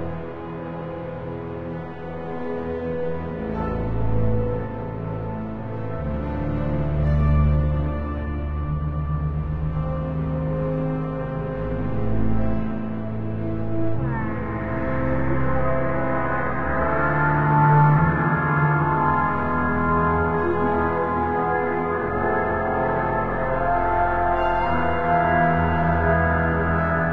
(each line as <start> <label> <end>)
0.0 bowed double bass 27.1
0.0 violin 27.1
10.8 choral voices 27.1